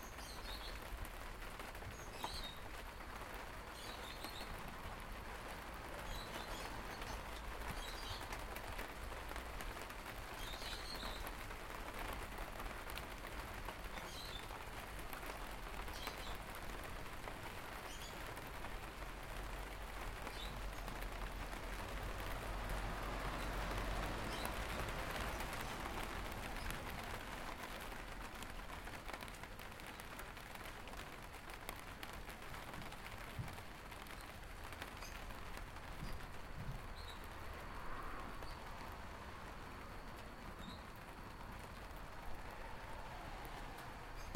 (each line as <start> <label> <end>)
0.1 Starting to Rain 44.3